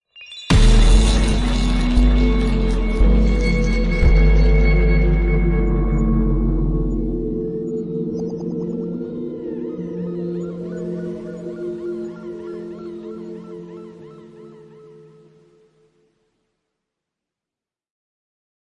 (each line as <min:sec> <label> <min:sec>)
0:00.5 impact 0:06.8